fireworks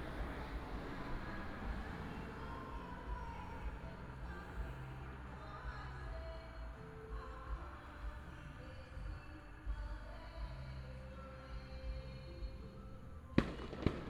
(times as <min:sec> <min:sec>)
0:13.4 0:14.0